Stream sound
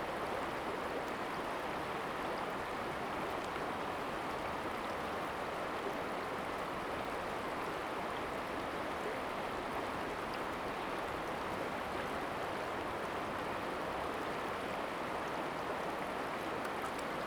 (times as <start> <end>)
12.1 17.2